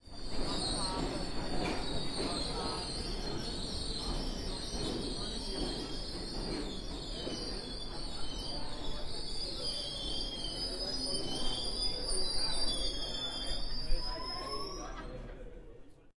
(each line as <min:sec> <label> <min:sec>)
0:00.0 Subway train, screeching to a halt 0:16.1